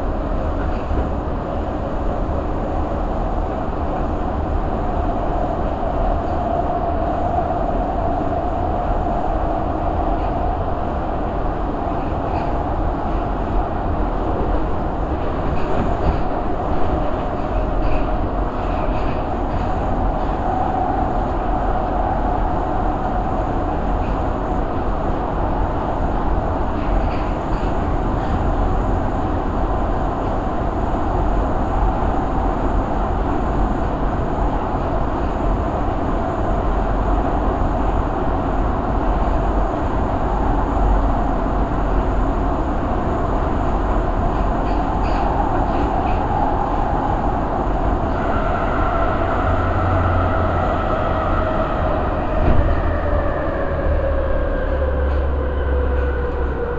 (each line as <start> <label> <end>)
0.0 another train which is going fastly on the backward railway 56.7
0.0 going onto the rail-crossings 56.7
0.0 train was slowing down 56.7